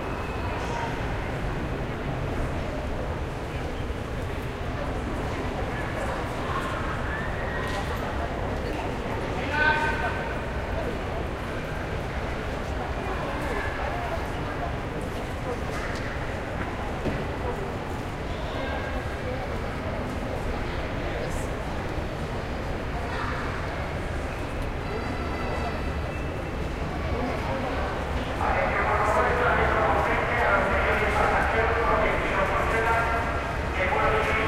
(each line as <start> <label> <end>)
0.0 people 34.4
28.4 announcement 34.4